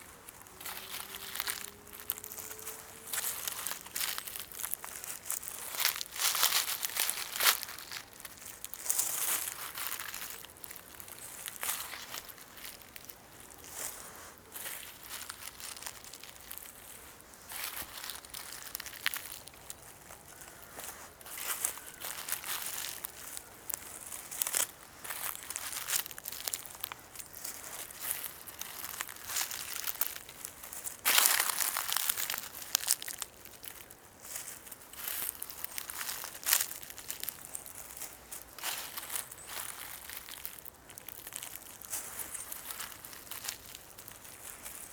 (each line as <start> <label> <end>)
0.0 steps barefoot on oak dead leaves, acorns and brushes 44.9